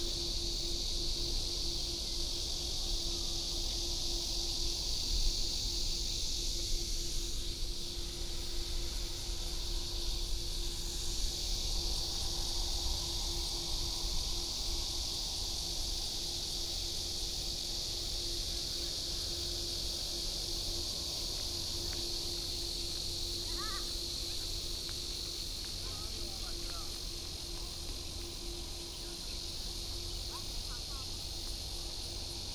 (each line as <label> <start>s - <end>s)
Cicadas 0.0s - 32.5s